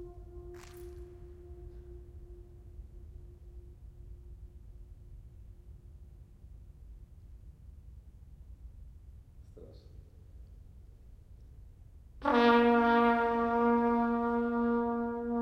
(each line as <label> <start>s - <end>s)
trumpet 0.0s - 5.7s
trumpet 12.2s - 15.4s